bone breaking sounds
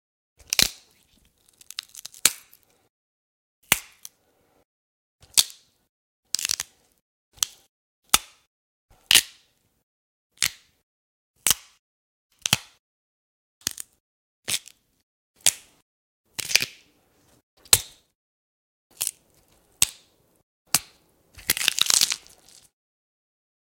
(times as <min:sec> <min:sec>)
0:00.4 0:02.8, 0:06.3 0:06.8, 0:18.9 0:20.1, 0:20.7 0:22.8